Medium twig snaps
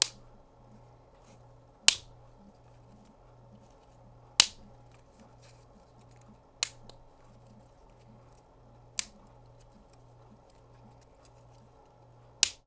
0.0 0.4, 1.9 2.1, 4.4 5.3, 6.1 7.2, 8.9 11.6, 12.4 12.6

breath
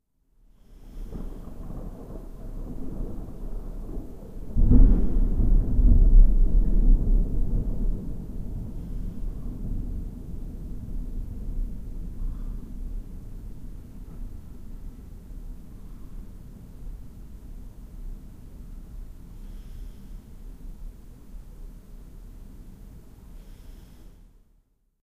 0.5 1.8, 4.7 5.4, 8.6 9.9, 12.1 13.1, 15.6 16.6, 19.3 20.6, 23.2 24.5

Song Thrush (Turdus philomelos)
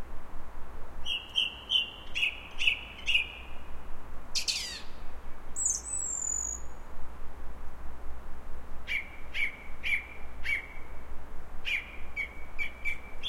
1.0 6.8, 8.8 13.2

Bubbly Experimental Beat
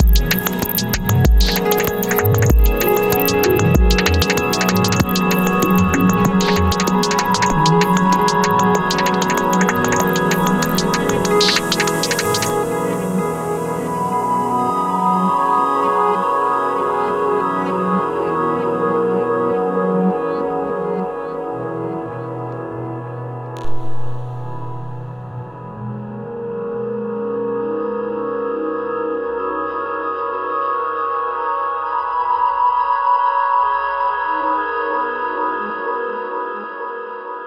0.0 12.6, 23.6 25.3

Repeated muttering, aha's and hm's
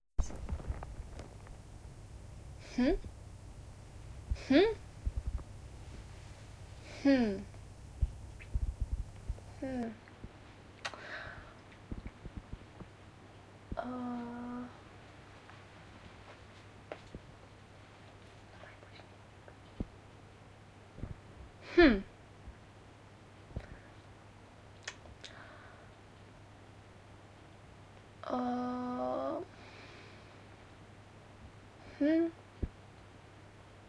2.4 10.1

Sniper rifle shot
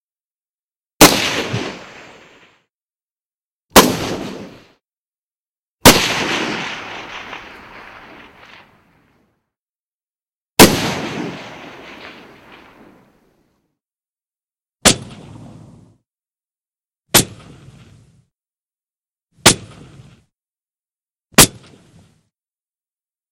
1.0 2.4, 3.8 4.6, 5.8 8.9, 10.6 13.1, 14.8 15.5, 21.4 22.0

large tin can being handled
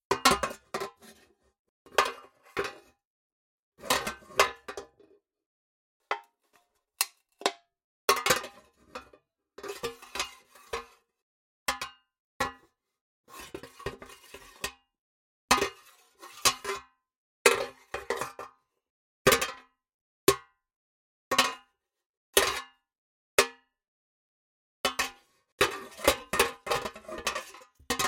0.1 1.4, 24.9 28.0

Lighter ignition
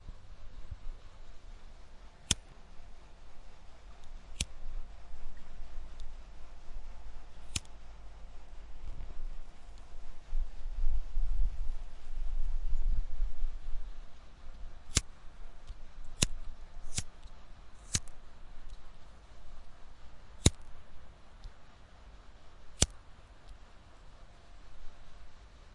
2.2 2.5, 3.2 6.2, 7.3 7.8, 14.5 19.7, 20.3 20.8, 22.6 23.6

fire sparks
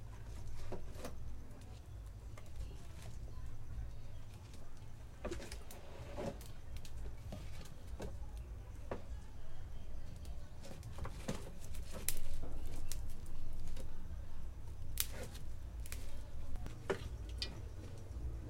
14.8 16.7

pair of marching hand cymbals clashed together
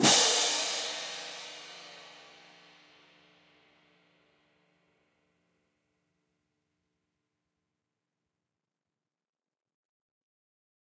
0.0 2.7

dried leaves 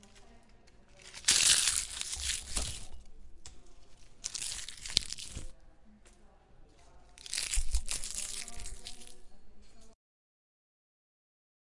0.0 3.0, 3.7 5.6, 7.2 9.3

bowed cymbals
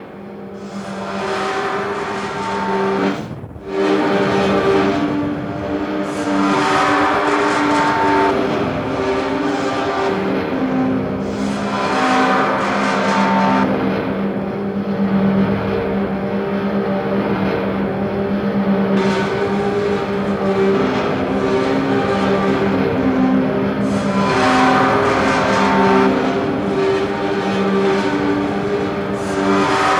18.9 29.9

